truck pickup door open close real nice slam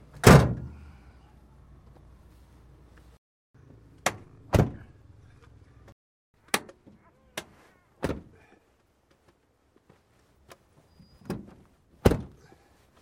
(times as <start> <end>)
0.2 0.8, 4.5 4.9, 11.2 12.4